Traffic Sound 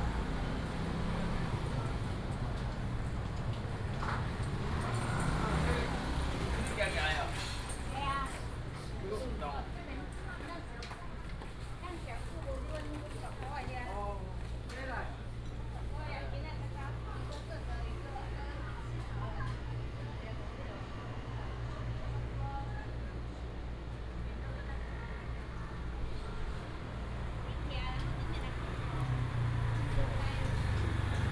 0.0 8.2, 24.0 31.3

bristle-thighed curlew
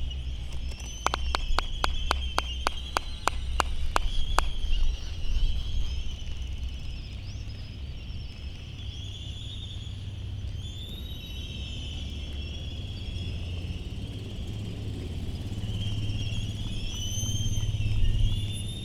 0.0 8.3

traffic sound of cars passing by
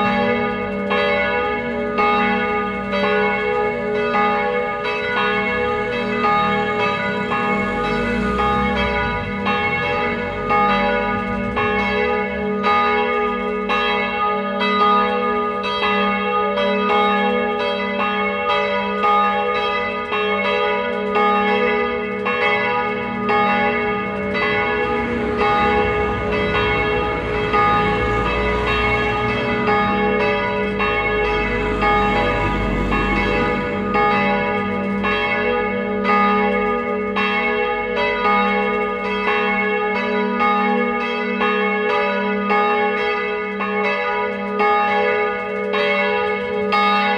0.0 15.7, 19.5 41.2

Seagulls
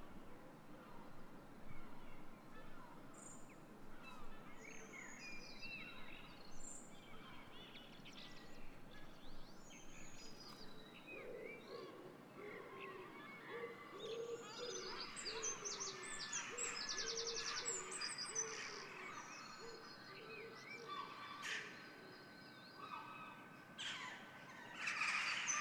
22.8 25.6

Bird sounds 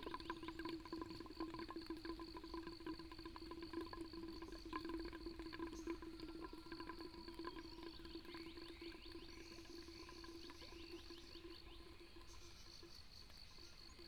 7.3 14.0

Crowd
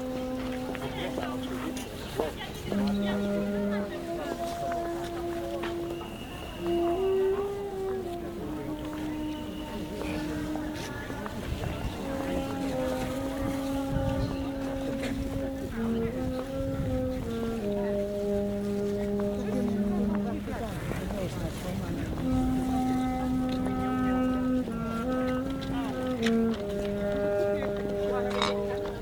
0.0 22.7

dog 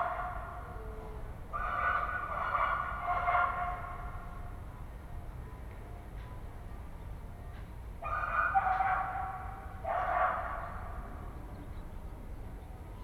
8.0 10.7

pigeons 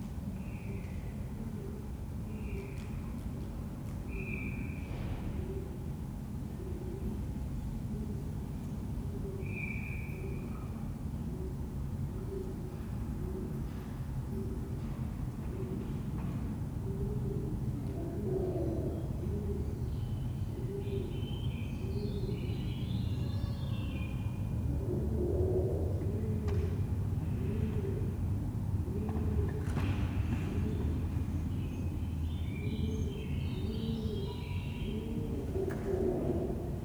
24.5 31.9, 32.6 36.8

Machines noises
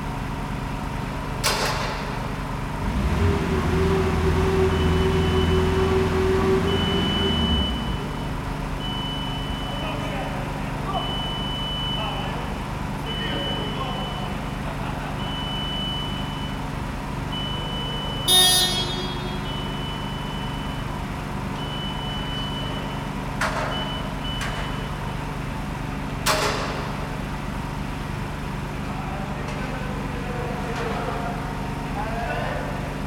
17.4 20.9

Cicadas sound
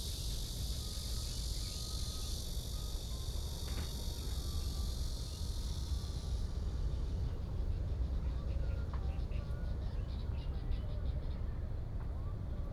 0.1 7.0

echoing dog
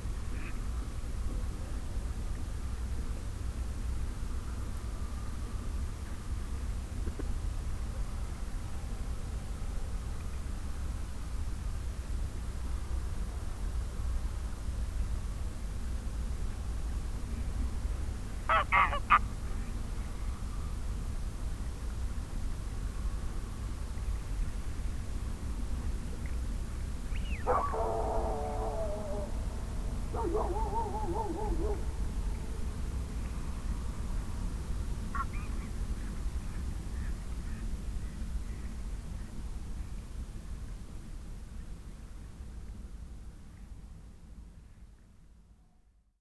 18.5 19.2, 27.4 32.7

